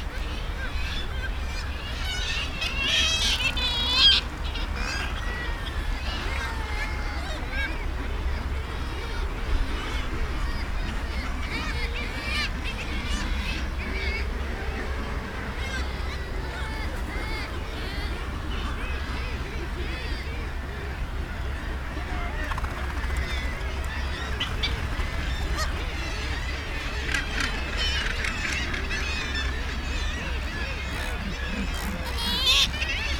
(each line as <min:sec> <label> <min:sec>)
0:00.1 gannets 0:33.1
0:00.1 kittiwakes calling around their nesting ledges 0:33.1